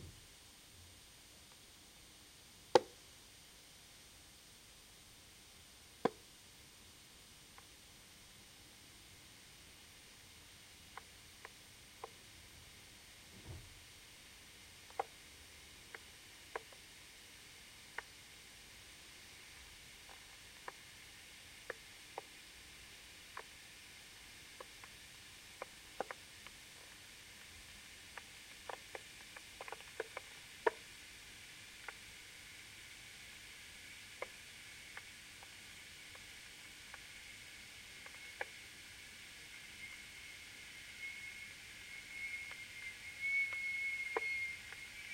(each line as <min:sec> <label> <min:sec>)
0:08.9 Heating cold water in an electric water boiler until boiling 0:45.1
0:39.6 howling, squeaking tones 0:45.1